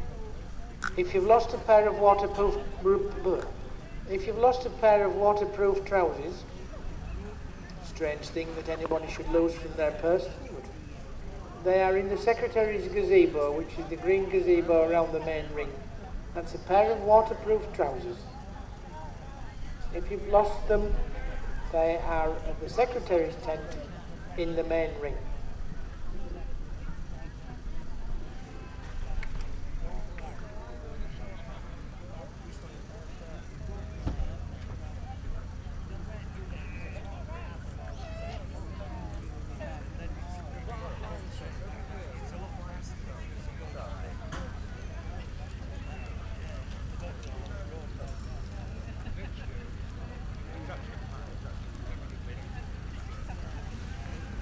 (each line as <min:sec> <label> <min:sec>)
0:00.0 public address system 0:26.4
0:00.0 voices 0:54.4